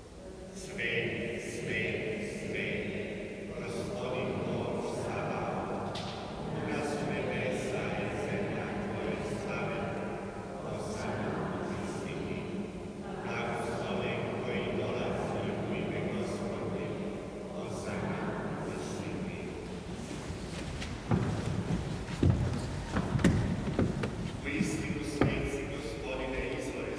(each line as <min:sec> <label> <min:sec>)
0:00.0 Priest 0:26.9